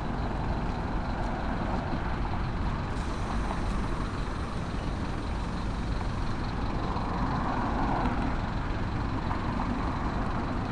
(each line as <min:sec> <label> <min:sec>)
0:00.0 Traffic 0:10.7